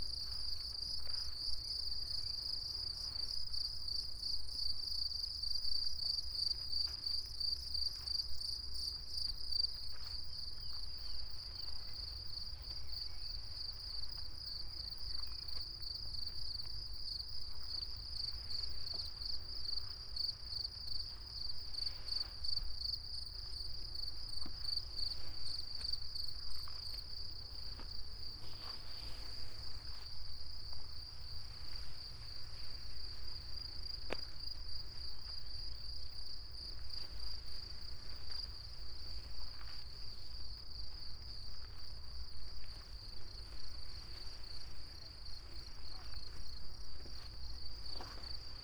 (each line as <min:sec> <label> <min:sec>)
0:00.0 crickets 0:48.6
0:00.0 wind 0:48.6
0:26.5 high grass 0:34.2